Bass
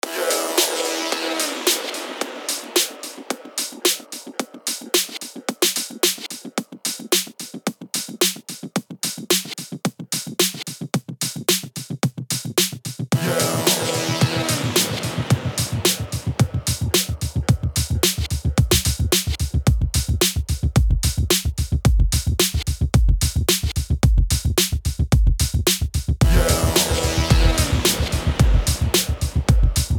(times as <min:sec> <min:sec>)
0:13.2 0:29.9